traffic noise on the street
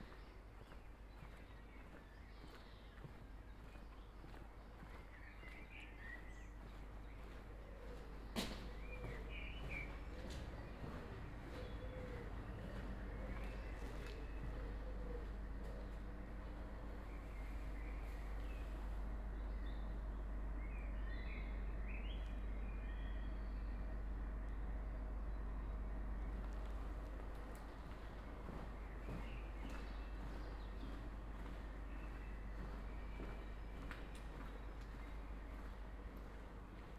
5.0 22.9

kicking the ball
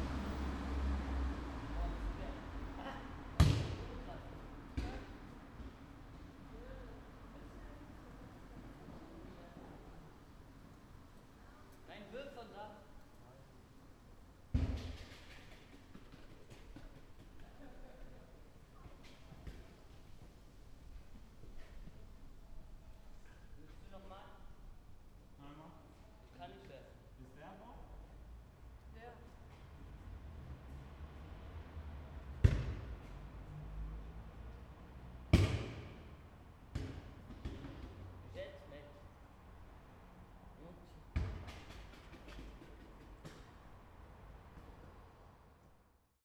3.4 4.0, 4.7 5.8, 14.5 17.8, 32.4 33.2, 35.3 36.1, 36.7 38.0, 41.1 43.6

